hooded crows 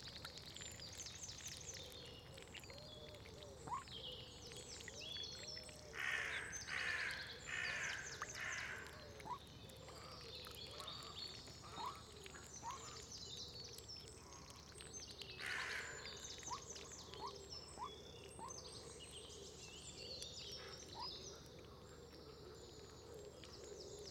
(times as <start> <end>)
5.9 9.0, 15.4 16.2